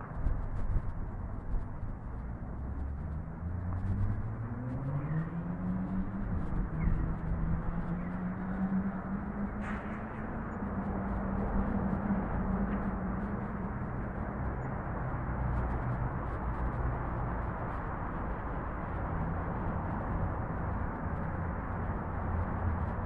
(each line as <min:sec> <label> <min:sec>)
0:00.0 freeway 0:23.0